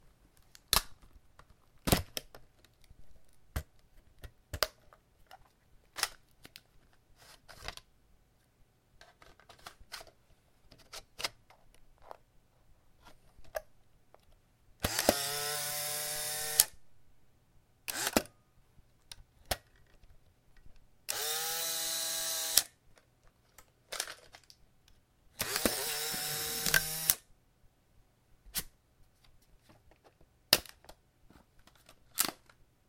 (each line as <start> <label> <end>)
25.4 Polaroid Land Camera Operation 27.2